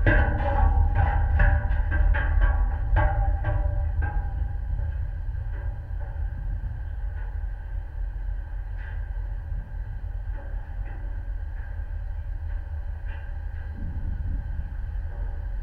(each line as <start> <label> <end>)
0.0 metal steps on deck 7.4